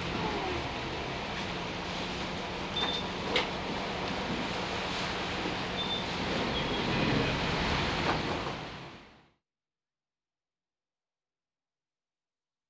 traveling on the waterbus 0:00.0 - 0:09.4

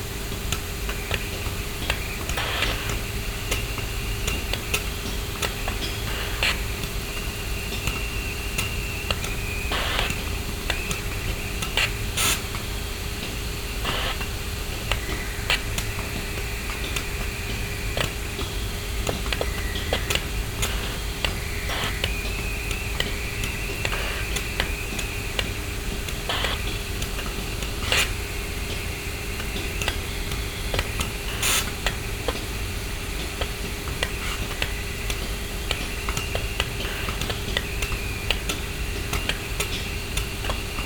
Moisture traps in steam lines spitting out the collected water 0:00.0 - 0:40.8

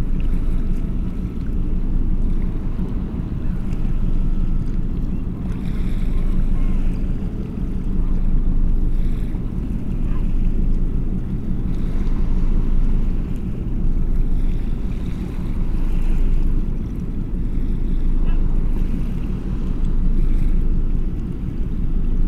big boat transporting gas is passing by 0:00.0 - 0:22.2

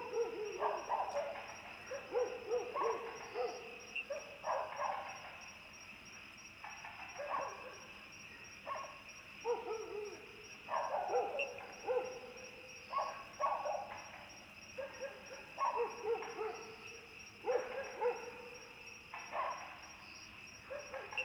Dogs barking 0:00.0 - 0:05.1
insects 0:00.0 - 0:21.2
Dogs barking 0:08.7 - 0:14.0
Dogs barking 0:14.8 - 0:16.8
Frogs chirping 0:15.3 - 0:21.2
Dogs barking 0:17.4 - 0:18.5
Dogs barking 0:19.2 - 0:19.8
Dogs barking 0:20.7 - 0:21.2

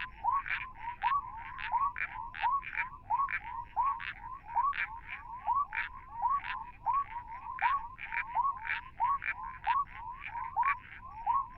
Frogs calling from burrows 0:00.0 - 0:11.5

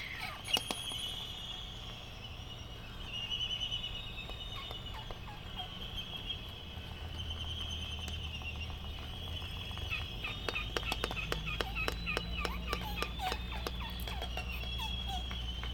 calls from white terns 0:00.0 - 0:01.7
calls from white terns 0:03.0 - 0:15.7
laysan albatross dancing 0:04.2 - 0:15.7

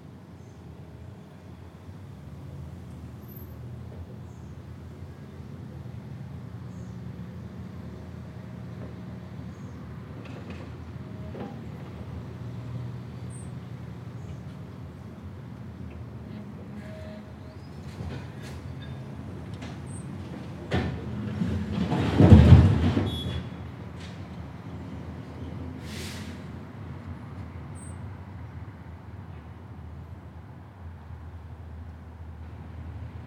Loading rubble and bits of old building into a lorry 0:07.6 - 0:26.9

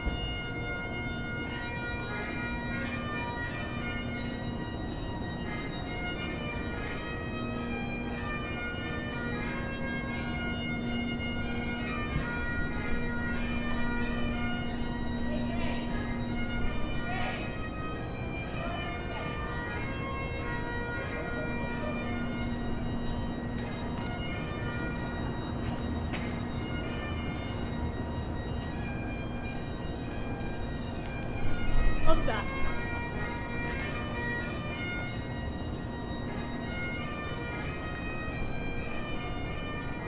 Bagpiper 0:00.0 - 0:40.0

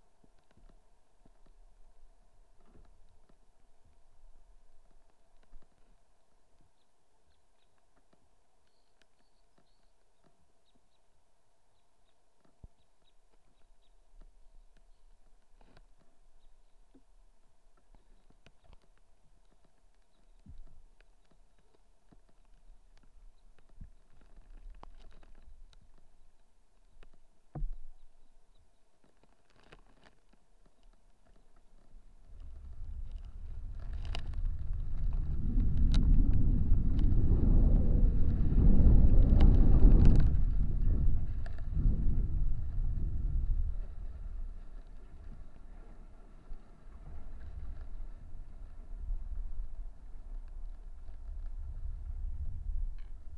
wind play on the first ice 0:29.6 - 0:53.3

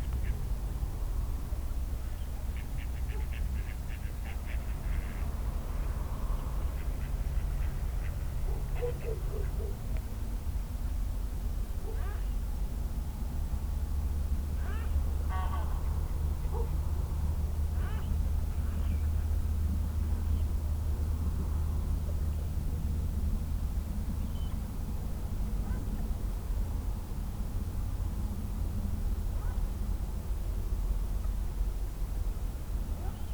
ducks 0:02.5 - 0:05.4
wild geese 0:02.5 - 0:05.4
other busy animals 0:02.5 - 0:05.3
ducks 0:06.7 - 0:09.8
wild geese 0:06.7 - 0:09.8
barking dogs 0:08.4 - 0:09.8
wild geese 0:14.6 - 0:15.9
barking dogs 0:16.5 - 0:16.8

